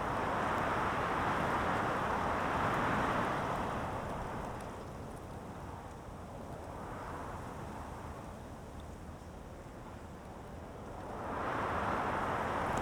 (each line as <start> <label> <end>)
0.0 wind 12.8